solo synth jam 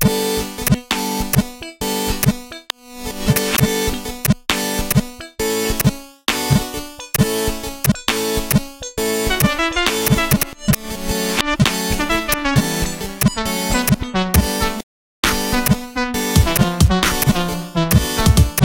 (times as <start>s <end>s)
1.6s 14.8s